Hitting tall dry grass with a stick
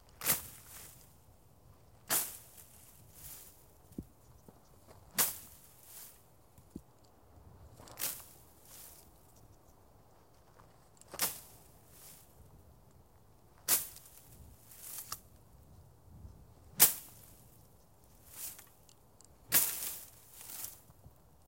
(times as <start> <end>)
0.0 1.1, 2.0 4.1, 4.9 6.7, 7.8 9.1, 11.1 12.3, 13.6 15.3, 16.7 18.8, 19.4 20.9